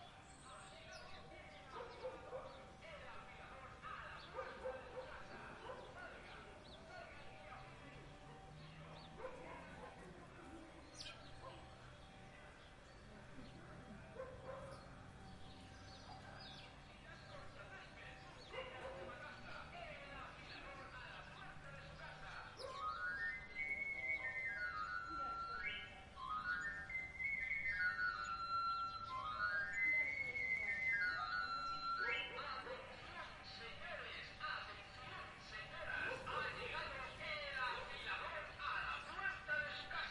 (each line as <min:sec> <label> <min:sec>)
0:22.7 loudspeakers sounding the traditional whistle 0:32.7